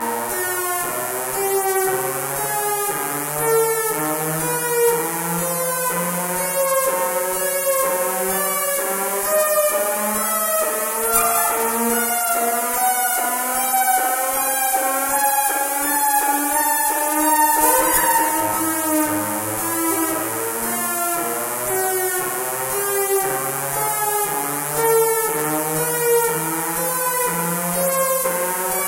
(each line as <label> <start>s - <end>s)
Analog Synth 11.2s - 12.7s
Analog Synth 17.4s - 20.7s